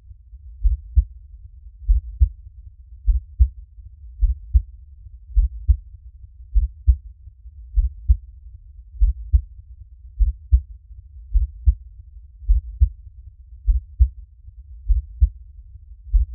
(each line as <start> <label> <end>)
0.6 heartbeat 1.2
1.8 heartbeat 2.4
3.0 heartbeat 3.6
4.2 heartbeat 5.9
6.5 heartbeat 7.1
7.7 heartbeat 8.3
8.9 heartbeat 9.5
10.2 heartbeat 10.7
11.3 heartbeat 11.8
12.4 heartbeat 13.0
13.6 heartbeat 14.2
14.8 heartbeat 15.4
16.0 heartbeat 16.3